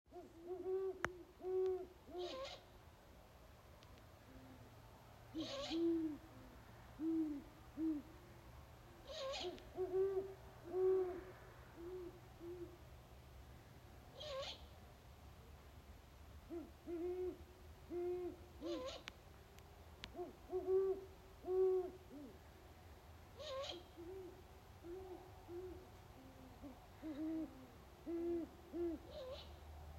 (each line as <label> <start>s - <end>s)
great horn owls 9.0s - 12.8s